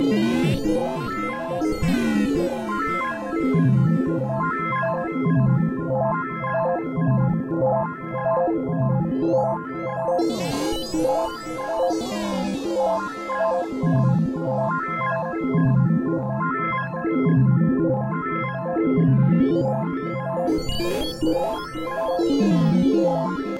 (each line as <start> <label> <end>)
0.0 Radio wave interference/robot-burbling-like synth sounds 3.3